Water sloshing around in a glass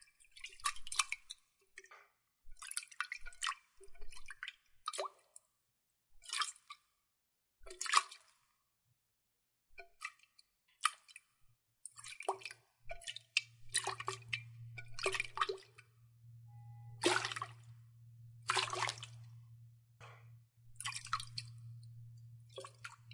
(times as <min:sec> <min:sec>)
0:00.4 0:01.4, 0:02.6 0:05.3, 0:07.7 0:08.5, 0:09.8 0:16.1, 0:16.8 0:23.1